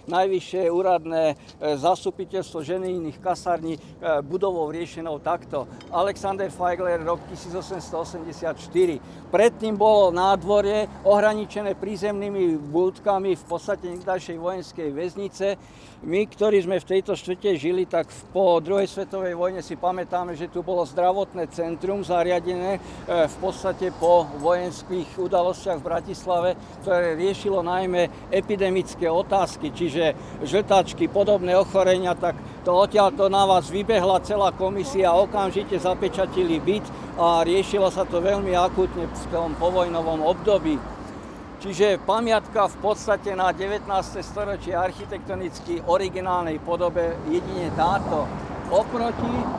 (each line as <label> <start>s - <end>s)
talk about local neighbourhood 0.0s - 49.5s